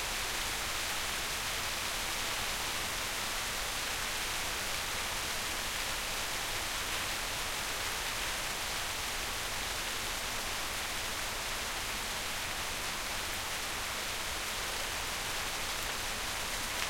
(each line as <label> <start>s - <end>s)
rain 0.0s - 16.8s